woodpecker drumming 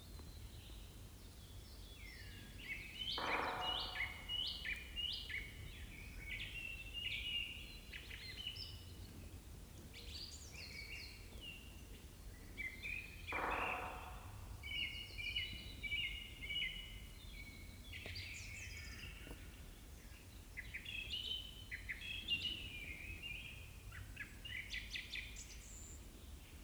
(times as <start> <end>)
3.2 4.8, 13.3 14.8